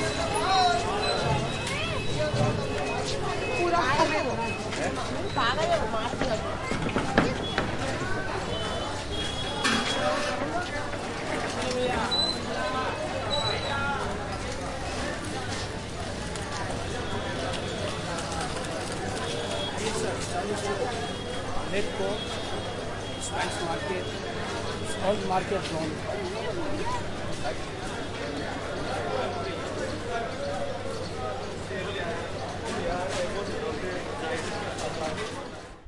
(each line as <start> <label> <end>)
0.0 tuktuks passing by 35.8
0.0 bikes 35.8
0.0 salesmen are trying to sell their commodities 35.8